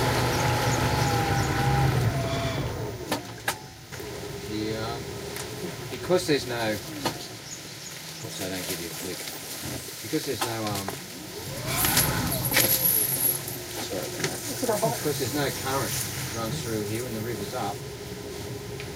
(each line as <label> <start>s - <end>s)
boat 0.0s - 18.9s
rainforest (that can be heard scraping on the hull 7.8s - 18.5s
tour guide can be heard explaining 8.1s - 9.4s
tour guide can be heard explaining 13.7s - 17.8s